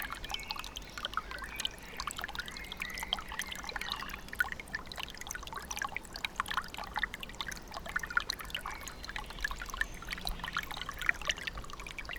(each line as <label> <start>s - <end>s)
gentle rustle of Bogdanka brook flowing over stones 0.0s - 12.1s